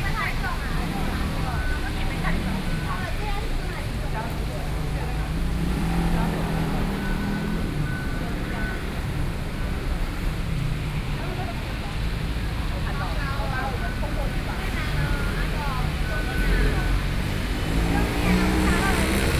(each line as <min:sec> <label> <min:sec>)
0:00.0 Traffic Noise 0:19.3